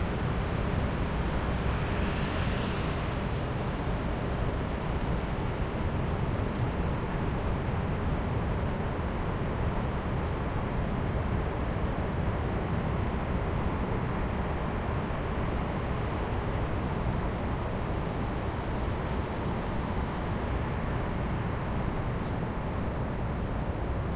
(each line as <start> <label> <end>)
0.0 traffic 8.3